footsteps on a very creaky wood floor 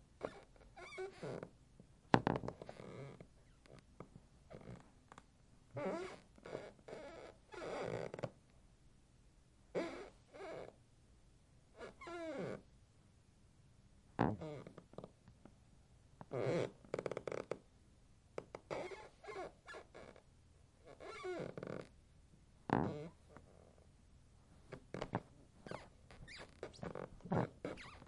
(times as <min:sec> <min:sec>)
0:24.7 0:28.0